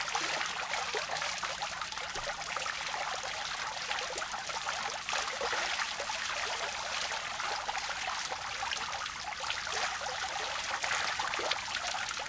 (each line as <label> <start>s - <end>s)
small fountain 0.0s - 12.2s